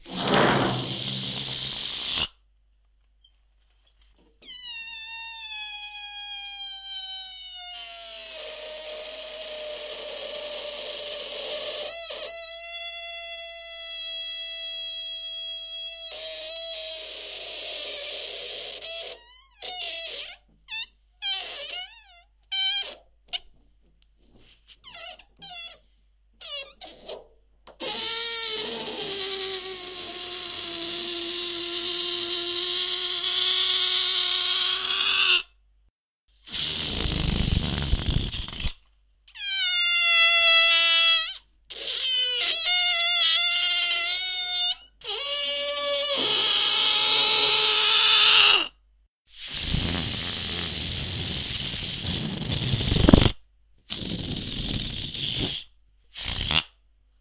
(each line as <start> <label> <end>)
0.0 Random Balloon Sounds 2.3
27.8 Random Balloon Sounds 35.3
36.5 Random Balloon Sounds 48.2
49.4 Random Balloon Sounds 56.8